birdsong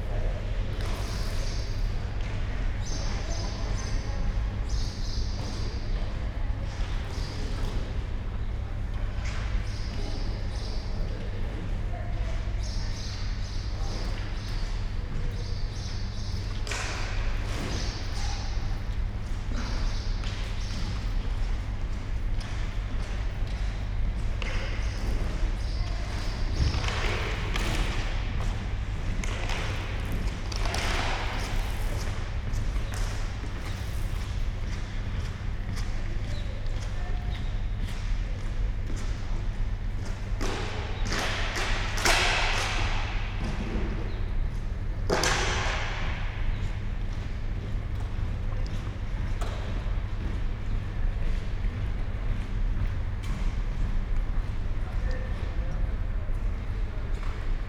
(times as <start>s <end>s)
0.9s 6.3s, 7.0s 21.4s, 24.6s 27.5s